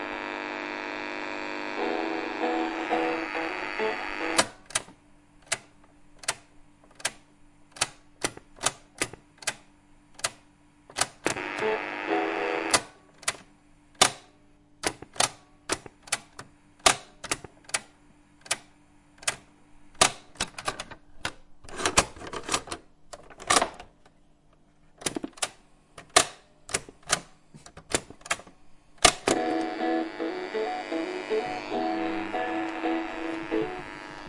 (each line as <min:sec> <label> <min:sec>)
0:00.0 tape player being started and stopped 0:04.6
0:11.2 tape player being started and stopped 0:12.9
0:29.1 play and pause buttons being used 0:34.2
0:29.1 tape player being started and stopped 0:34.2